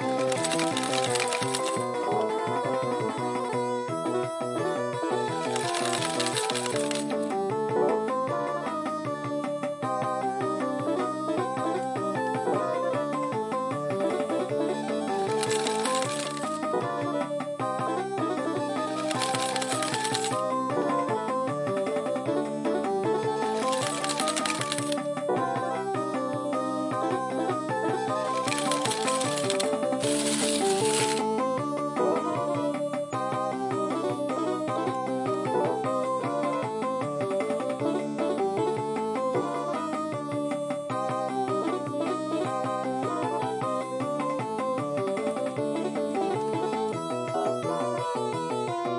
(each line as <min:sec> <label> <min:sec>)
0:00.0 General slot play on Japanese Slot Machine with payout 0:03.0
0:04.9 General slot play on Japanese Slot Machine with payout 0:07.2
0:14.0 General slot play on Japanese Slot Machine with payout 0:17.2
0:18.3 General slot play on Japanese Slot Machine with payout 0:20.9
0:23.3 General slot play on Japanese Slot Machine with payout 0:25.2
0:27.8 General slot play on Japanese Slot Machine with payout 0:31.4